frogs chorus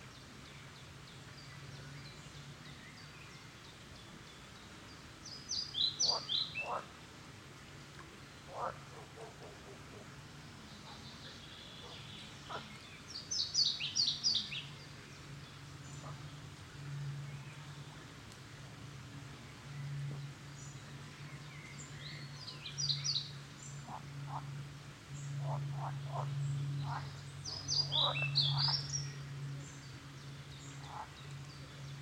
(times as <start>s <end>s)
6.0s 6.9s, 8.5s 10.0s, 10.8s 12.7s, 25.4s 29.0s, 30.8s 31.2s